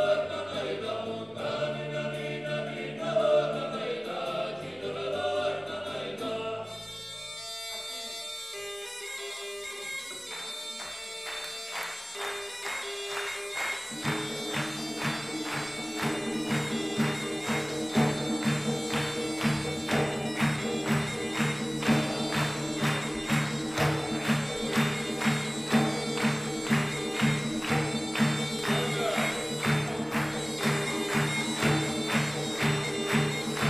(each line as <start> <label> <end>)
0.0 vocal ensemble 7.0
13.9 vocal ensemble 33.6